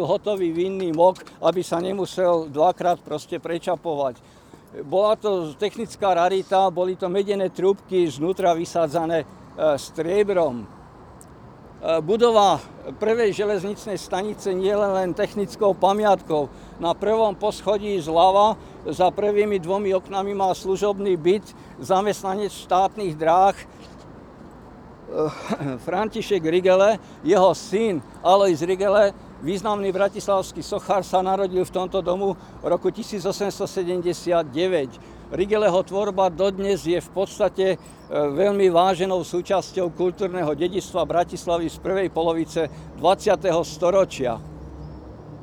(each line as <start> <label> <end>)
0.0 talk 10.7
11.8 talk 23.7
25.1 talk 44.4